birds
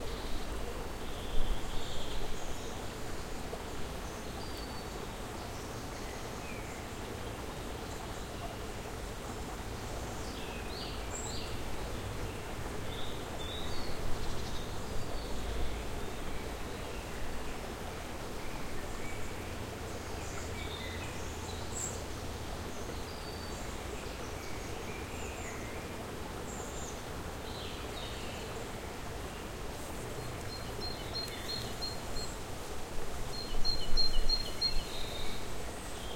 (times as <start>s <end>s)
18.4s 32.5s